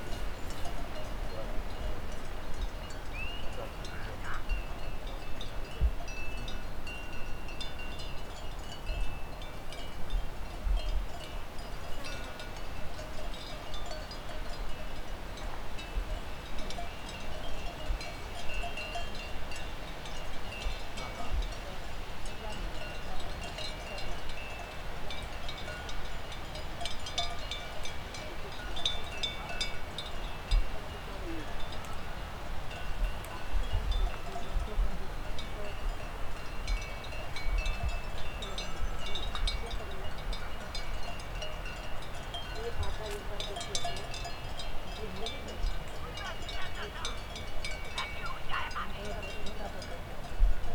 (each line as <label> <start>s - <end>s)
sheep bells 0.0s - 50.7s
shepherd calling to them 3.2s - 4.8s
tourists passing by 42.2s - 50.4s
shepherd calling to them 46.0s - 49.7s